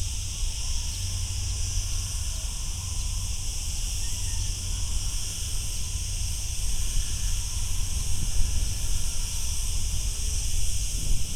crickets 0.0 - 11.3

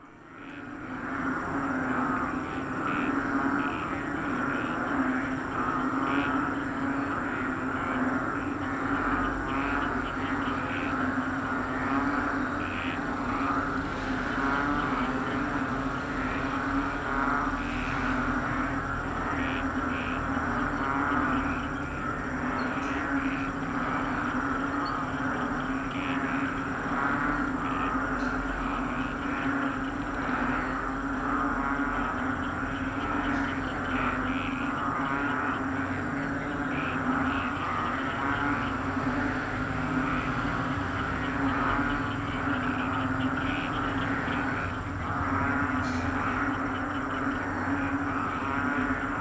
frogs in the field 0.0 - 49.2
cars 1.1 - 49.2
motorcycles 35.0 - 49.1

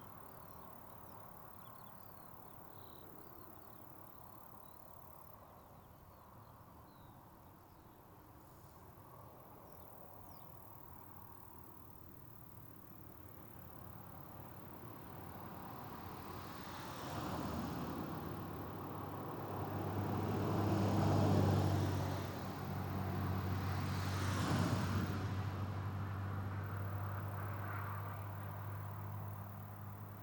song of the grasshoppers and crickets 0.0 - 30.2
traffic 8.8 - 30.2

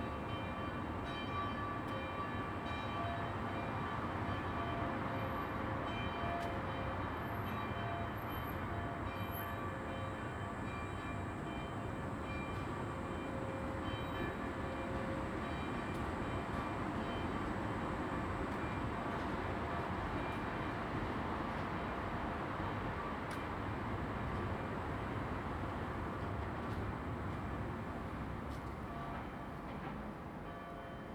deep humming of almost empty trams 0.0 - 31.1

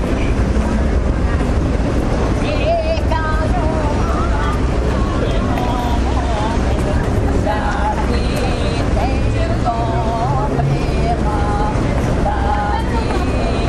street noise 0.0 - 13.6

